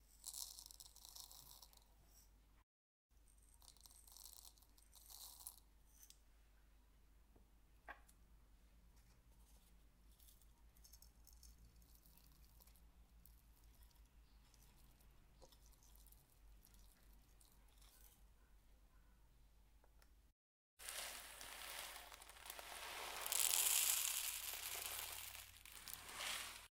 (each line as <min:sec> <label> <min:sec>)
0:00.2 Pouring Spices Into A Mortar 0:01.8
0:03.4 Pouring Spices Into A Mortar 0:05.6
0:20.8 Pouring Spices Into A Mortar 0:26.7